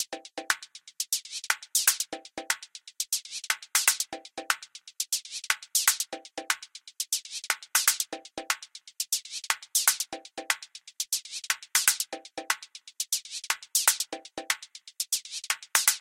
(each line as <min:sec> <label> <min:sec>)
0:00.0 hi hats 0:16.0
0:03.5 clap 0:04.6
0:07.5 clap 0:08.1
0:11.8 clap 0:12.5
0:13.5 clap 0:14.5
0:15.4 clap 0:16.0